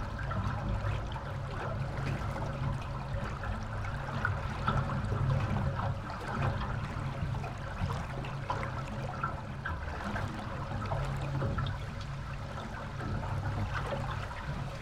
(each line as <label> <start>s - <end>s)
happy waters 0.0s - 14.8s